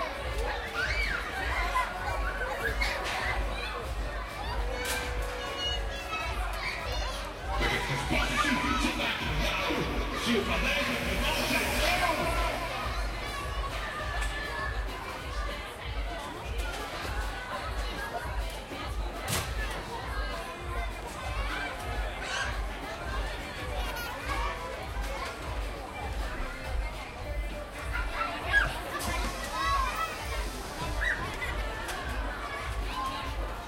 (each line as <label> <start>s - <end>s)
carnival scene 0.0s - 33.6s
chatter 0.0s - 33.6s
Ride cymbal with reverb 7.9s - 14.2s